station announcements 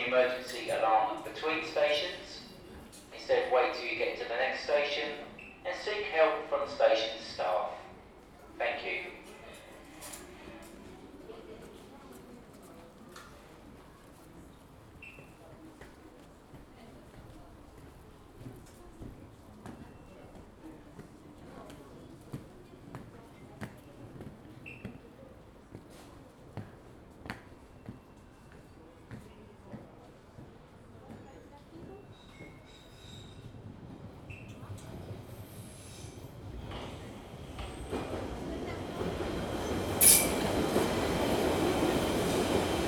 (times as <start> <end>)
0.0 9.5